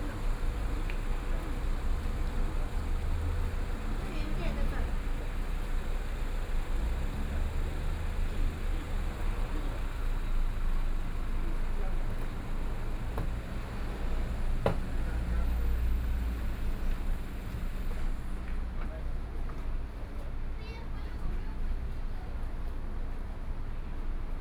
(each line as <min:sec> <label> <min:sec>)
0:00.0 Tourists 0:18.3
0:00.0 Traffic Sound 0:19.0